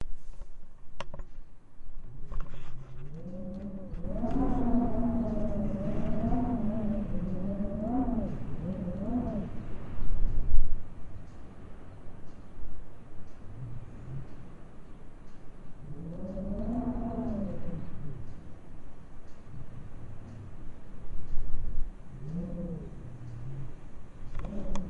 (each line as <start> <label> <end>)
2.0 Wind howling 11.2
12.7 Wind howling 24.8